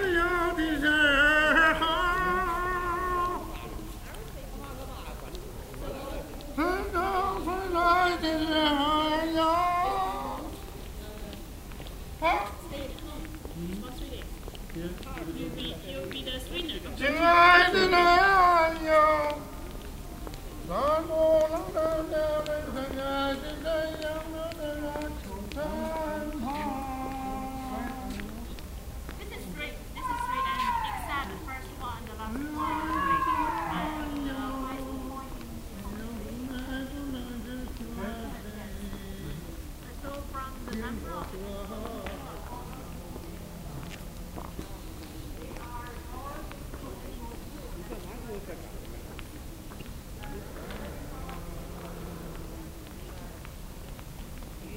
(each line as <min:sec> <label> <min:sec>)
0:00.0 voices of a man singing 0:12.5
0:13.2 voices of a man singing 0:28.8
0:29.9 distant voice repeatively shouting 0:31.3
0:32.0 voices of a man singing 0:48.6
0:32.5 distant voice repeatively shouting 0:34.2
0:50.1 voices of a man singing 0:54.7